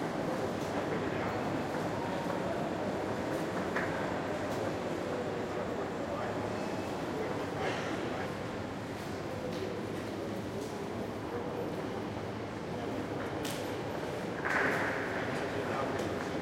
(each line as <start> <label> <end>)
0.0 people talking 8.6
0.0 Trains can be heard arriving and leaving 14.4
9.2 people talking 16.4